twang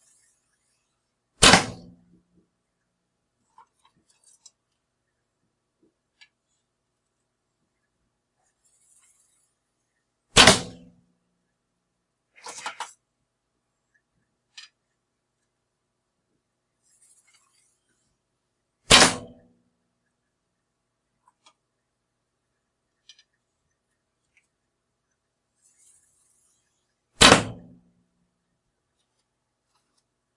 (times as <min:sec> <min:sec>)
0:01.4 0:02.0, 0:10.4 0:10.9, 0:18.9 0:19.4, 0:27.2 0:27.8